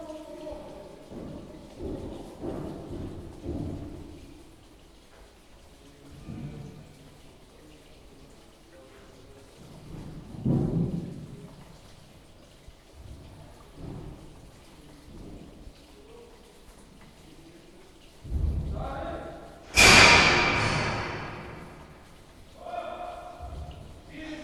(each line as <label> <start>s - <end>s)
rain ouside 0.0s - 24.4s